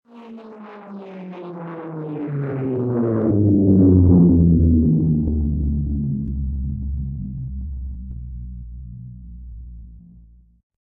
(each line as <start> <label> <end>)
0.1 Plane flyby 6.9